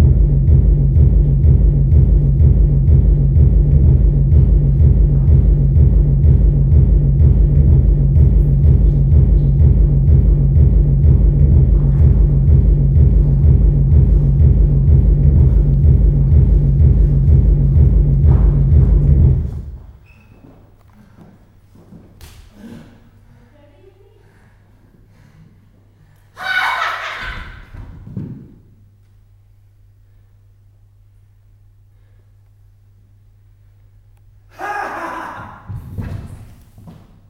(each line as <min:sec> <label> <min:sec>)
0:00.0 bühnenmusik 0:20.0